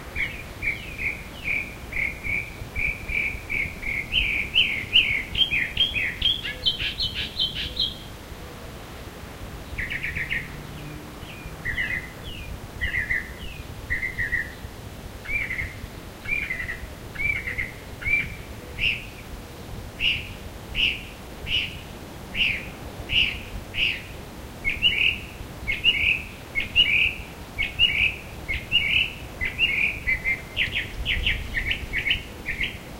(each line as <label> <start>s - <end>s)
other birds in background 0.1s - 8.8s
other birds in background 9.5s - 32.9s